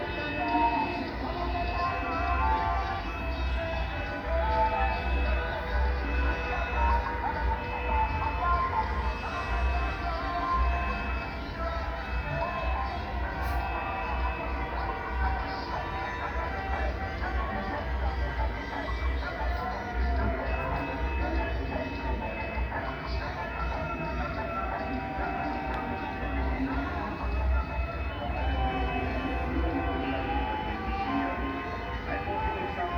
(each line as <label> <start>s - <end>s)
Cortège electoral 0.0s - 32.9s